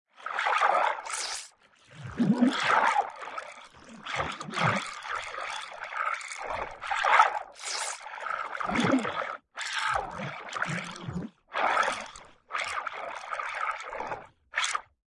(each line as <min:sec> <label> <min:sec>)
0:01.0 Watery Breath 0:02.2
0:07.6 Watery Breath 0:09.4